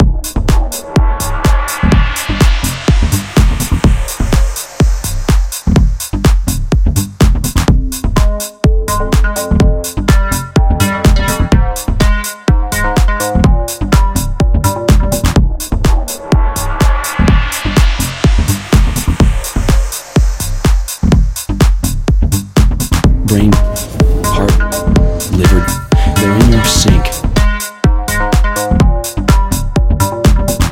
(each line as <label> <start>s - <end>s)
Beat loop with sample 0.0s - 27.8s